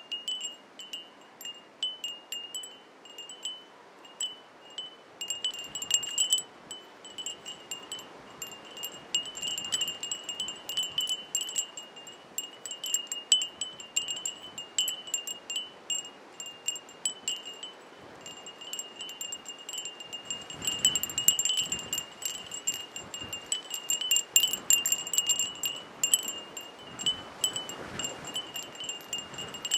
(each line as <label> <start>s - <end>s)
Wind Chimes 0.0s - 29.7s
strong gusts 19.4s - 29.7s